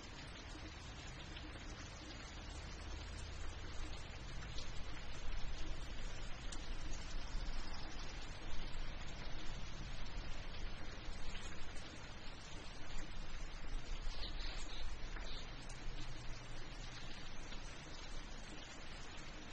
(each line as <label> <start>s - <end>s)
dripping gutter 0.0s - 19.5s
light rain 0.0s - 19.5s
birds 13.7s - 18.1s